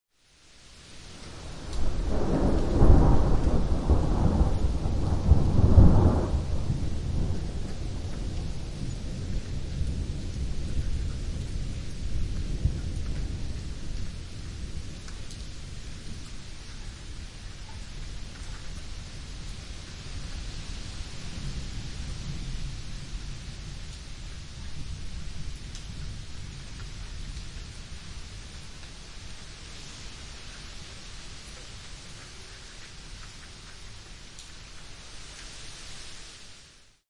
raindrops on concrete 0.2 - 37.0
thunders 1.4 - 14.9

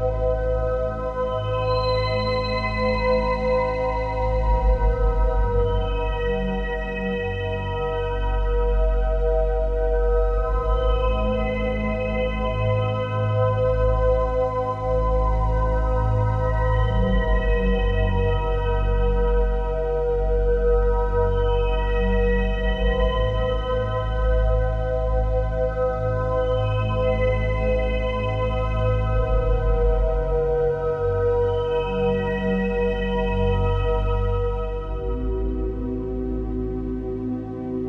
Calm synth music 8.1 - 37.8

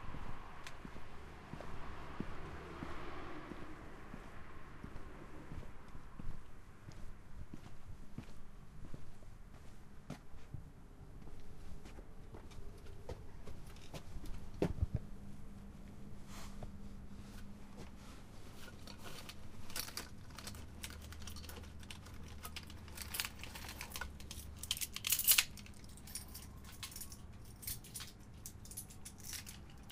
I walk up to my house 0.0 - 29.9
keys 18.7 - 29.9

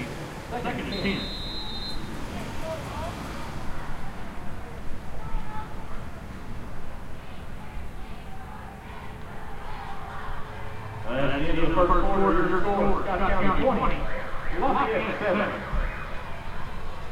crowd 0.0 - 17.1

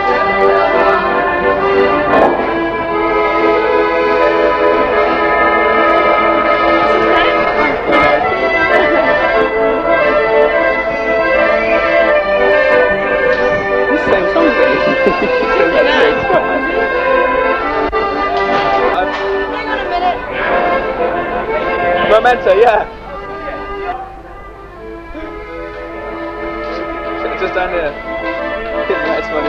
background talking 0.0 - 29.4
busker playing the accordion 0.0 - 29.4

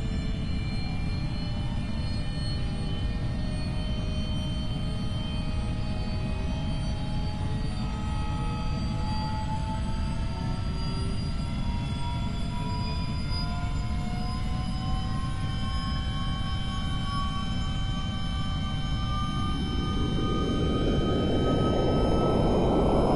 aircraft 0.0 - 23.1

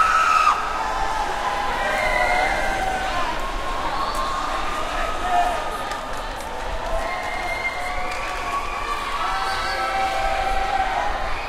crowd 0.0 - 11.4

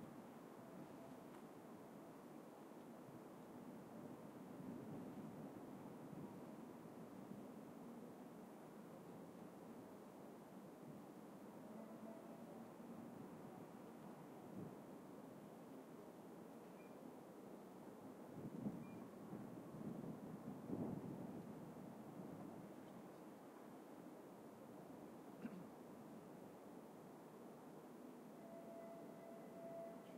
Diesel locomotive 11.5 - 14.4
Diesel locomotive 28.2 - 30.1

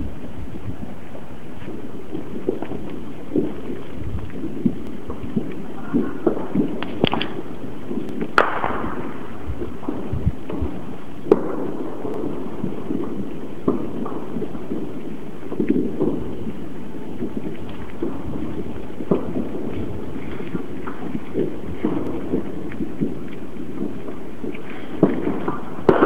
explosion 0.0 - 26.0
fireworks 0.0 - 26.0
shot 8.4 - 9.2
shot 24.9 - 26.0

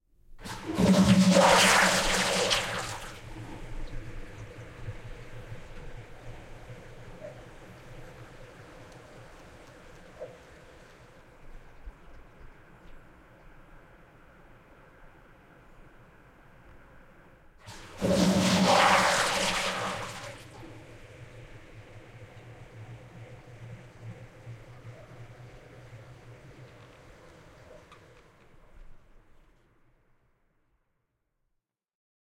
Old Toilet Flush 0.4 - 6.6
Old Toilet Flush 17.6 - 24.0

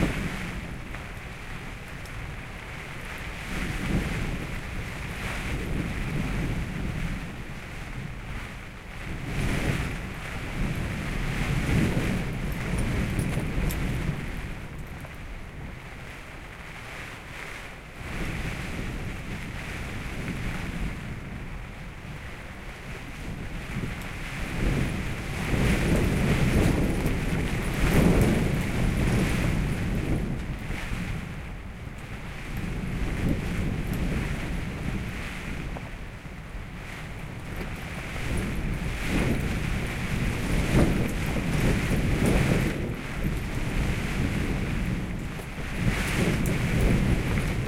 gale blowing outside 0.0 - 47.6
tent shakes 24.6 - 30.9

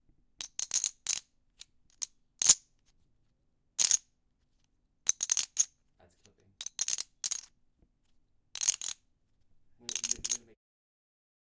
Poker chips stacking 0.4 - 2.7
Poker chips stacking 3.8 - 4.1
Poker chips stacking 5.1 - 7.5
Poker chips stacking 8.6 - 9.0
Poker chips stacking 9.8 - 10.5

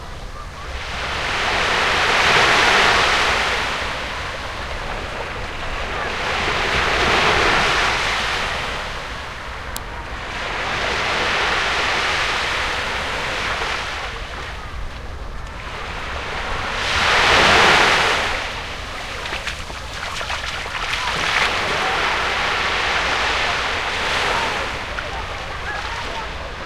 sea shore 0.0 - 26.6
kids playing 18.8 - 26.6

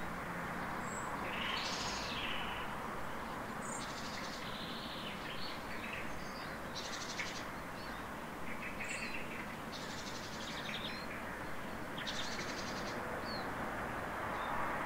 several birds 0.6 - 13.6

